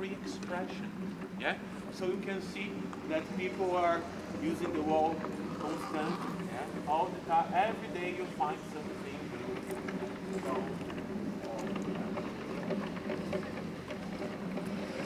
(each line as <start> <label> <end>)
0.0 guided tour passing 15.0